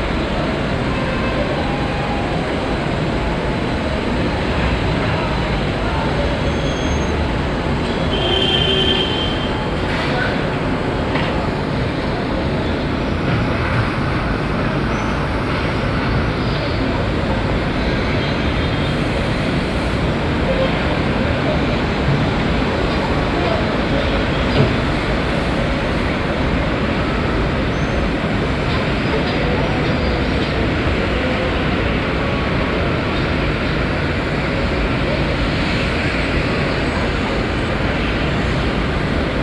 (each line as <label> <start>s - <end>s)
sound of the city 0.0s - 39.4s